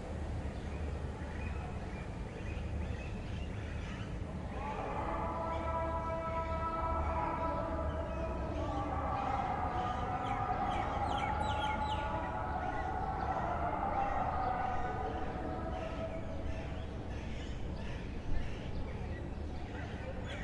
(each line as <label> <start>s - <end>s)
call to prayer 0.0s - 20.4s
walla 0.0s - 20.4s
birds 0.2s - 20.4s